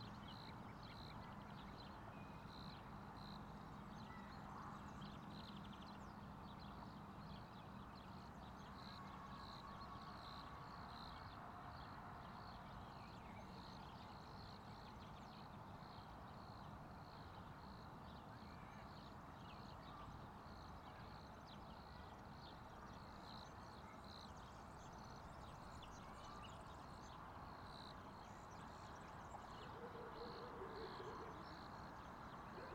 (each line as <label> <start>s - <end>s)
Birds 28.1s - 32.7s